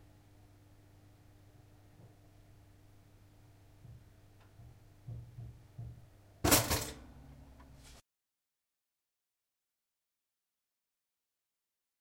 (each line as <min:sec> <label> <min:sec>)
0:06.4 Electric Toaster pops up 0:07.1